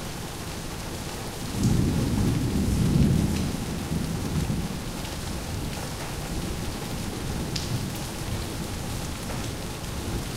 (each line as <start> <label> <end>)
0.0 Rain 10.3
1.5 thunder 4.9